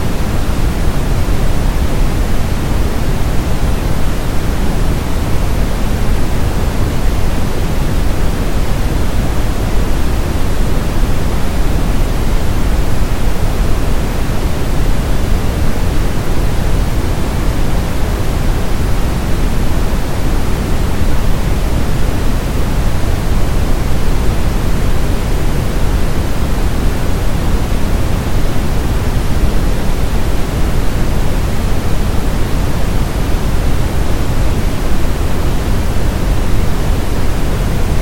0.0s Waterfall 38.0s

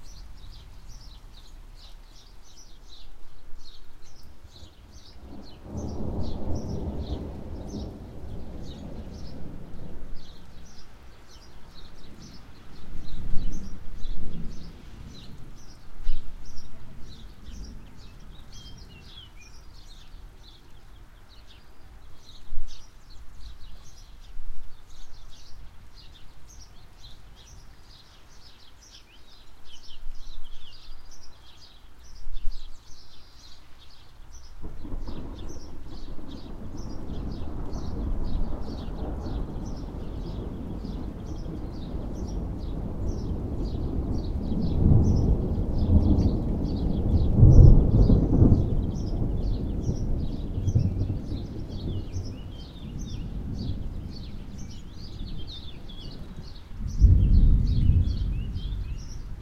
0.0s birds 59.4s
0.0s mild rain 59.4s
5.1s far away thunder 10.8s
34.6s far away thunder 59.4s

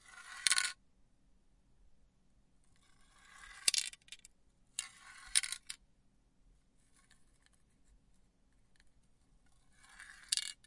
0.0s little metal ball inside rolling around 0.8s
2.6s little metal ball inside rolling around 5.8s
9.4s little metal ball inside rolling around 10.6s

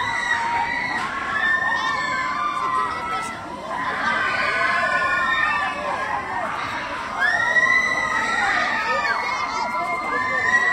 0.0s People in a scary attraction screaming 10.7s
0.0s crowd 10.7s

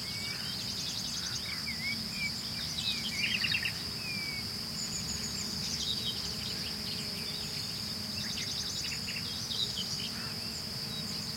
0.0s crickets chirping 11.3s
3.8s occasional bee buzzing 11.3s

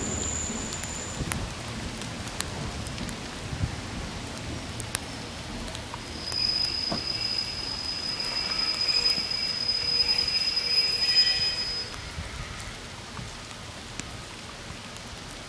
0.0s squeaky train brakes 1.3s
0.0s train heading for Leeds pulls in 13.9s
0.0s rain 15.4s
6.0s squeaky train brakes 12.8s

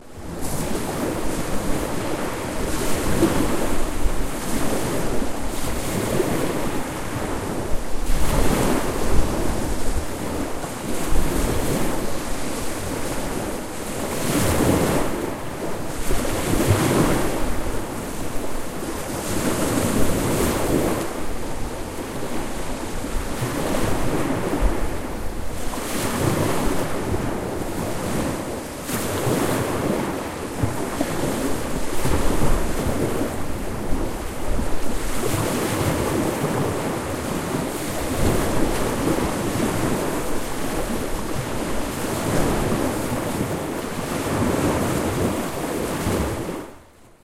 0.0s boisterous small waves 47.2s

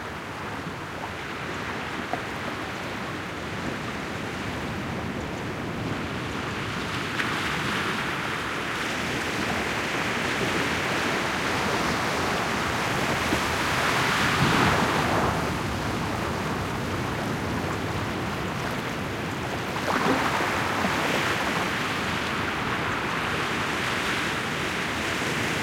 6.1s small waves breaking 25.6s

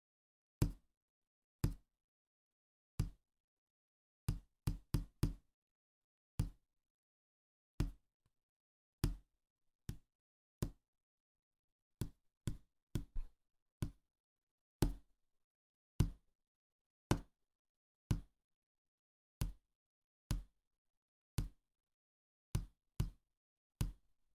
4.3s finger tap table counter wood 5.4s
9.0s finger tap table counter wood 9.2s
9.9s finger tap table counter wood 10.8s
12.0s finger tap table counter wood 14.0s
14.8s finger tap table counter wood 15.1s
16.0s finger tap table counter wood 16.2s
18.1s finger tap table counter wood 18.3s
20.3s finger tap table counter wood 20.5s
22.6s finger tap table counter wood 23.2s
23.8s finger tap table counter wood 24.0s

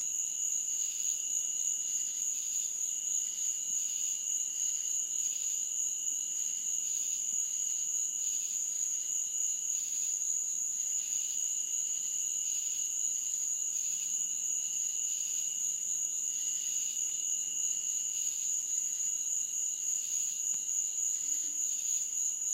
0.0s Cicada Insects 22.5s
0.0s crickets 22.5s
19.9s frogs 22.5s

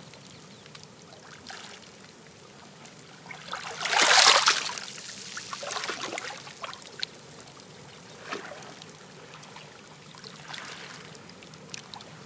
3.5s waves hitting the seashore 6.6s

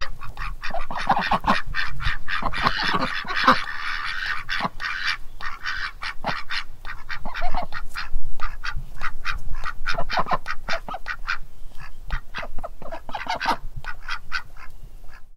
0.0s cayuga drakes and hens honking and dweeting 15.3s

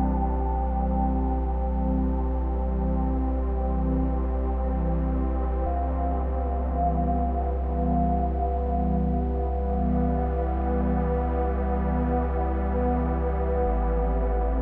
0.0s drone 14.6s
0.0s piano 14.6s

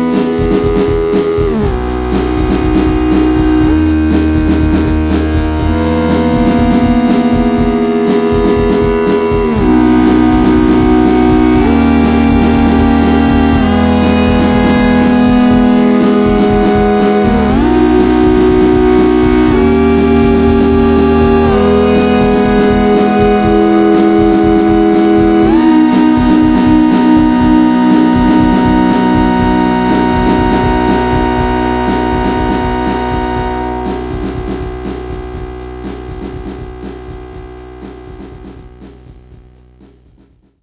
0.0s synth 38.4s
0.0s drum machine 40.6s

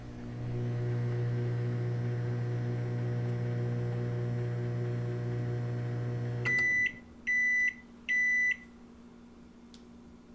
0.0s microwave finishing its time 8.4s

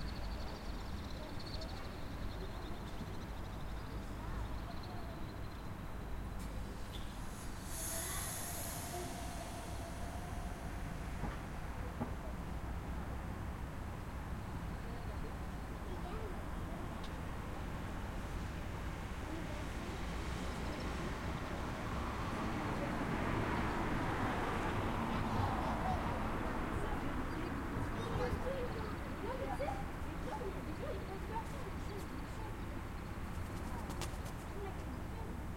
0.0s insects 15.8s
0.1s citizents adult and kids passing (talking in french) 35.5s
1.8s passing vehicules 35.5s
6.3s air 13.8s

